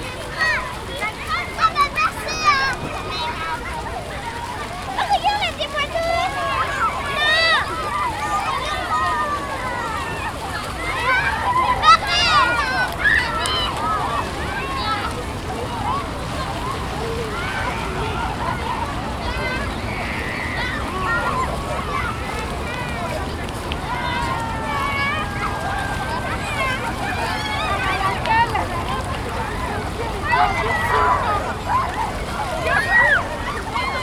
children running and shouting 0.0 - 34.0

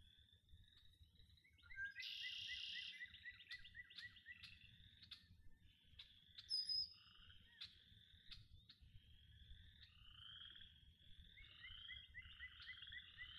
frog chorus 0.0 - 13.3

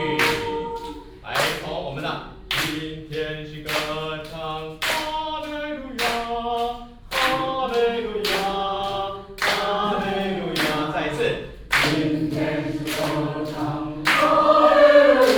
Elderly choir, Vocal exercises 0.0 - 15.3

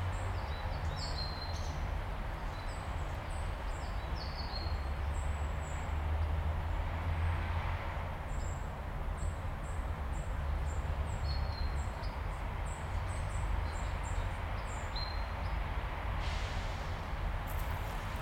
noises street 0.0 - 18.2

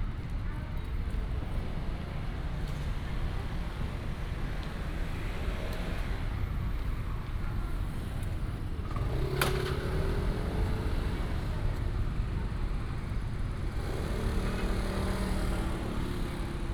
Traffic sound 0.4 - 16.7

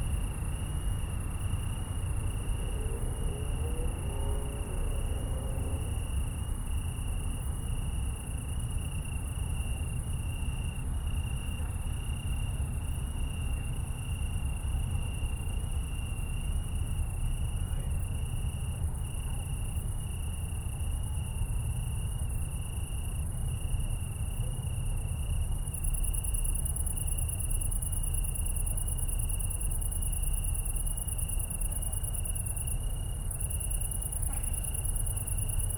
Italian tree crickets 0.0 - 35.7
other crickets 0.0 - 35.7

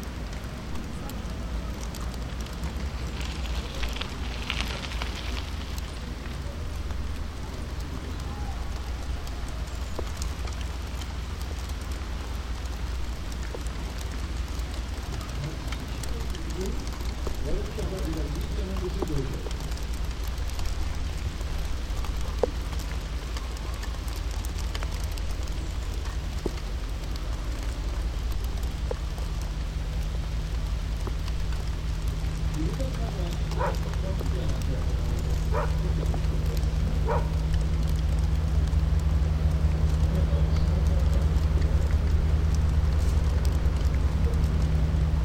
rain drops falling down on the waste beside a wastebasket 0.0 - 45.2

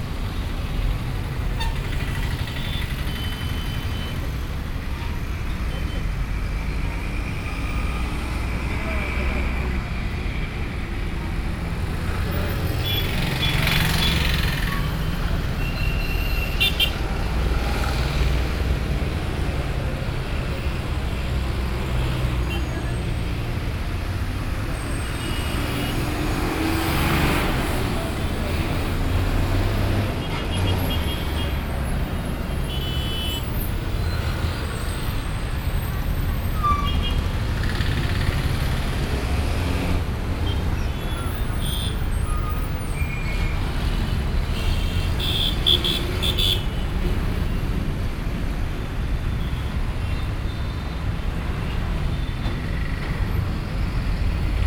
road traffic 0.0 - 54.6

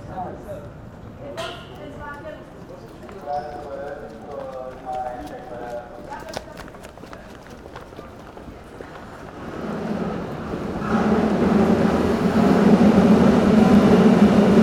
steps on stairs 2.7 - 9.4

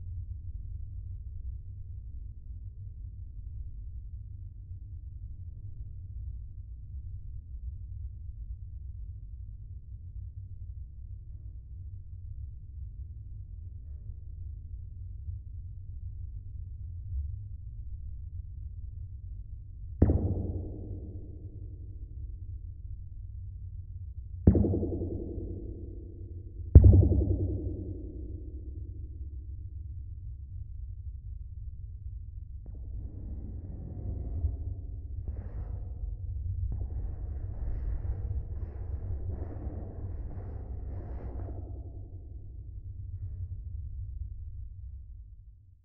aluminium sheet wall when hit with fingers 20.0 - 22.2
aluminium sheet wall when hit with fingers 24.5 - 29.1
aluminium sheet wall when hit with fingers 36.7 - 42.4

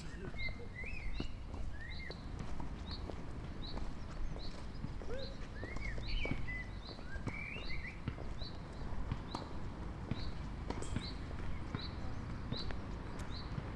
girl is jogging 0.0 - 13.7
practising at the basketball hoop 4.5 - 13.7

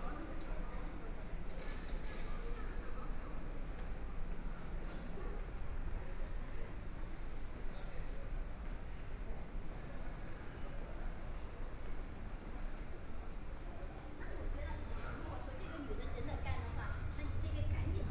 Walking through the subway station 0.0 - 18.1

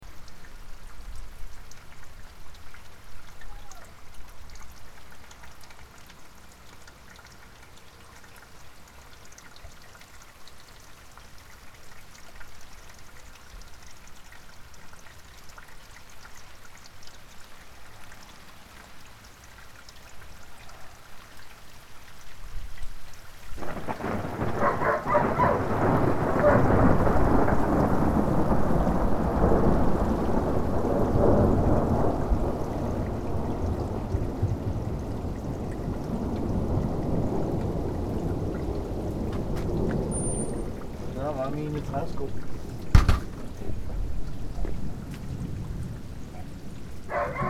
Thunder 23.6 - 45.7
dog 24.6 - 25.7
dog 26.4 - 26.7
dog 47.1 - 47.4

